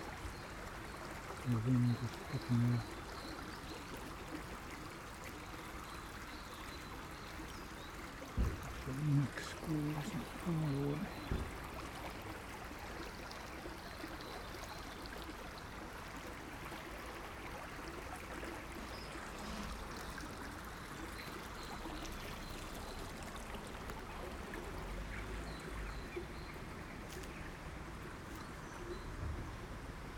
stream 0.0 - 30.1
the water drops about a foot 8.3 - 8.8

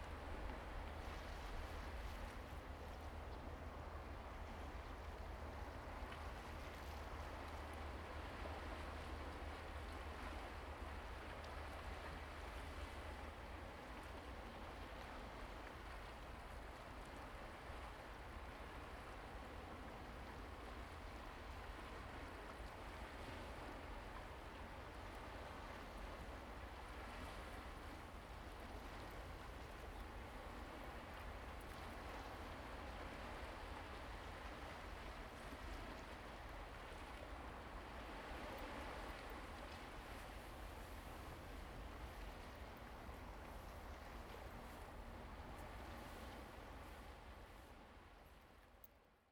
waves 0.0 - 48.8

